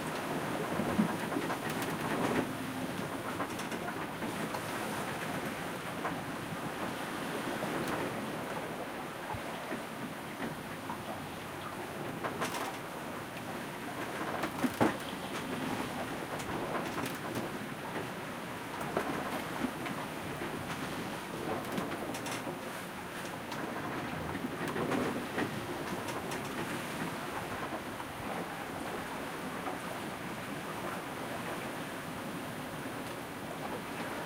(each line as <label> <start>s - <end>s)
waves 0.0s - 34.2s
creaking 14.3s - 17.6s